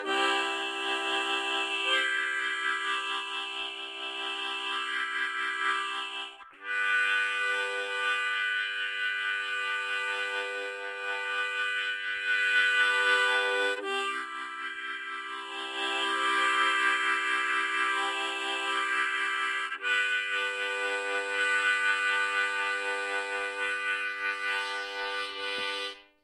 Harmonica 0:00.0 - 0:26.2

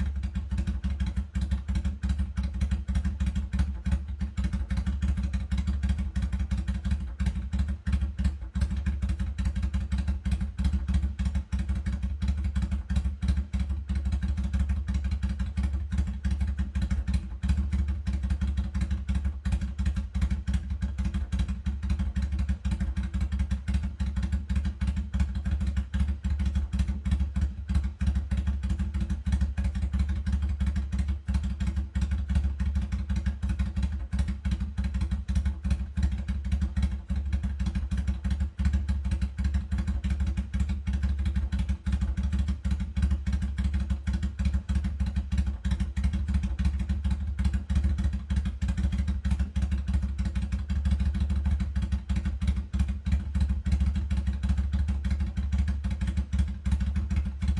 Drive by motorcycle 0:00.0 - 0:57.5

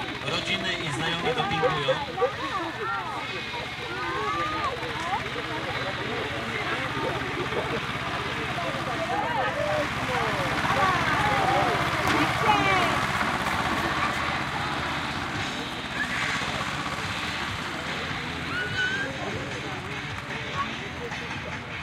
crowd 0:00.0 - 0:21.8
race of tractors 0:00.0 - 0:21.8

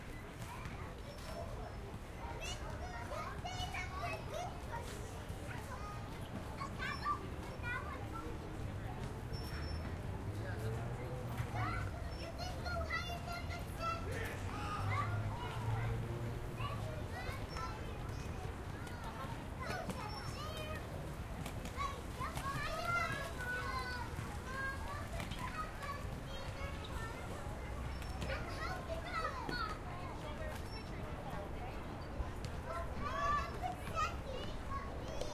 Kids Playing 0:11.5 - 0:35.3

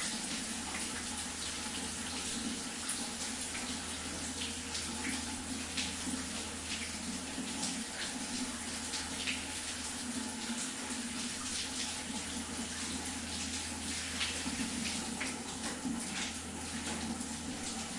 taking shower 0:00.0 - 0:17.9

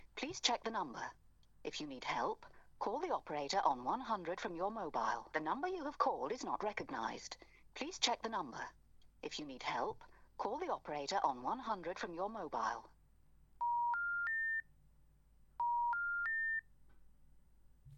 Dial Tone 0:13.6 - 0:14.7
pre-recorded message that plays when you attempt to call 0:13.6 - 0:14.6
pre-recorded message that plays when you attempt to call 0:15.6 - 0:16.6
Dial Tone 0:15.6 - 0:16.7

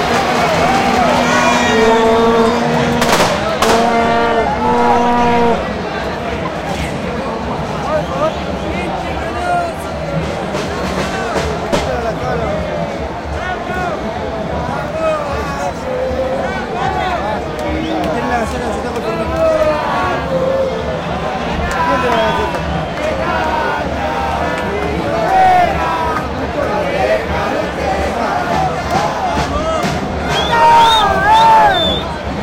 People shouting 0:00.0 - 0:05.8
People shouting 0:27.0 - 0:32.1

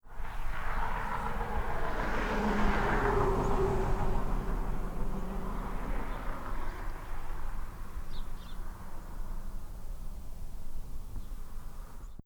Car Passing 0:00.0 - 0:10.5

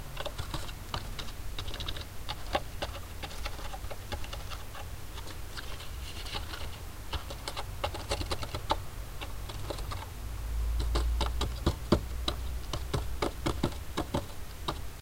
starling bird moving in a cave 0:00.0 - 0:10.2
knocking 0:10.8 - 0:14.8

